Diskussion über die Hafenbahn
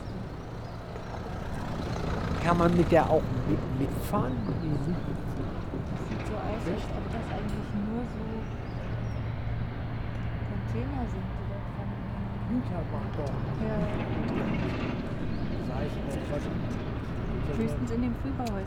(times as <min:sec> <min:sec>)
0:00.0 0:10.4